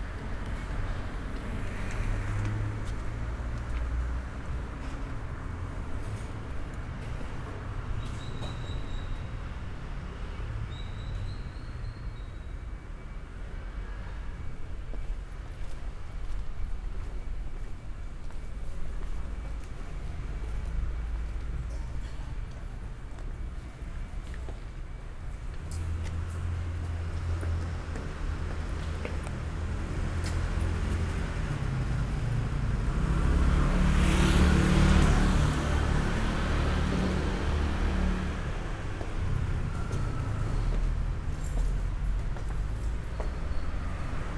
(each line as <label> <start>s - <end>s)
street walk 0.0s - 44.3s